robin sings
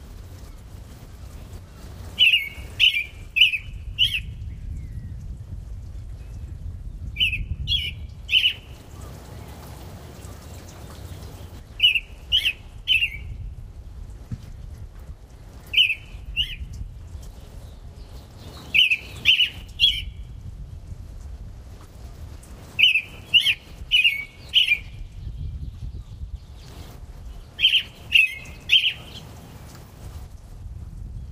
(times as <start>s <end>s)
1.2s 5.2s, 6.2s 13.5s, 15.6s 20.4s, 22.7s 29.7s